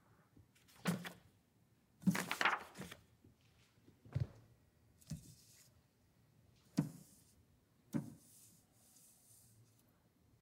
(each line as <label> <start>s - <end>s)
Handling a plastic transparency sheet 2.0s - 3.1s